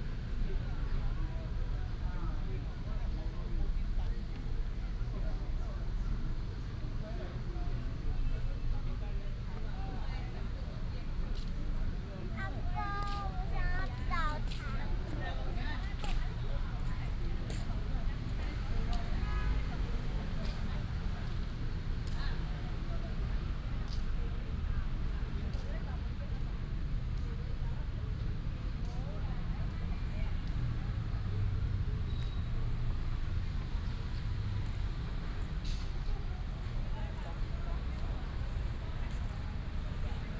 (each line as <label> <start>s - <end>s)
traffic sound 12.4s - 40.3s